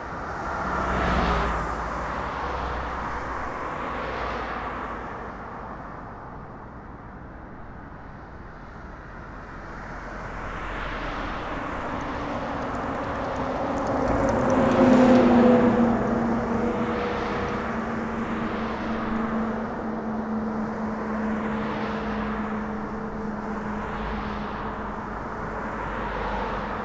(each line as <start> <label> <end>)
0.0 cars 26.8
0.0 trucks 26.8
10.6 passenger and freight train passing by 26.5